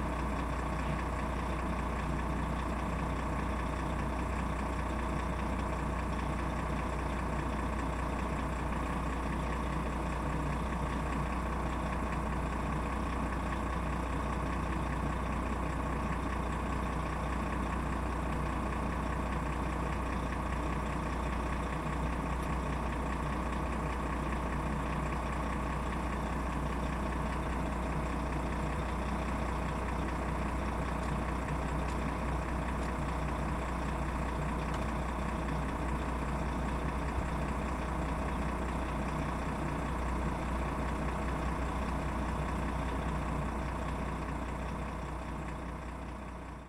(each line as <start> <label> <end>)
0.0 Whirring engine on low gear 46.6